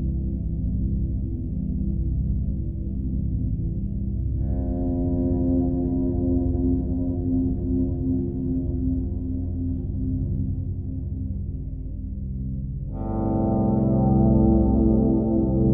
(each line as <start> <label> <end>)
13.0 bowed guitar 15.7